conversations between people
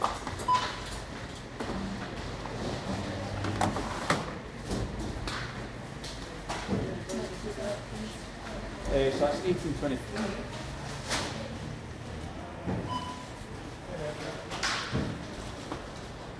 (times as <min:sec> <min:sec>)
0:07.0 0:10.9